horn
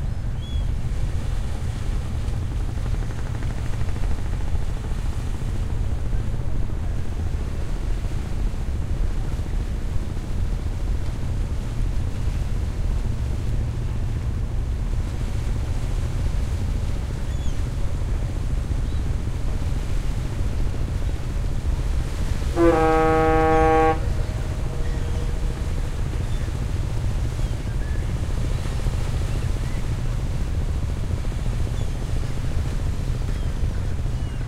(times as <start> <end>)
22.4 25.8